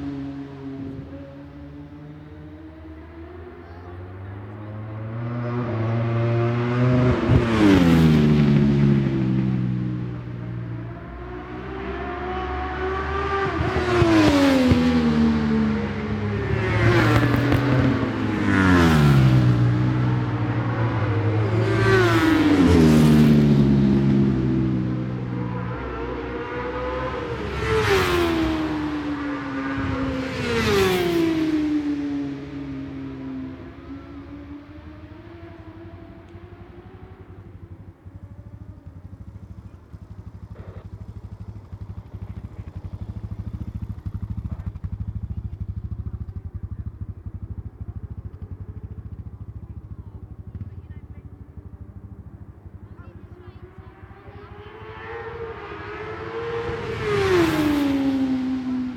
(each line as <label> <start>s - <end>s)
superbike practice 13.2s - 55.2s